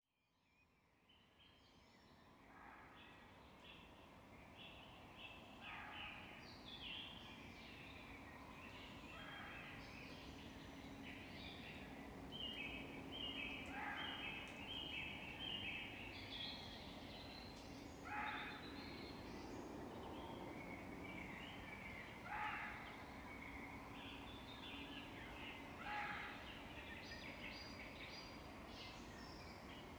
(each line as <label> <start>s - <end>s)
Common blackbird 12.4s - 19.5s
Carrion crow 18.1s - 18.6s
Common blackbird 21.2s - 29.8s
Carrion crow 22.3s - 23.0s
Carrion crow 25.8s - 26.4s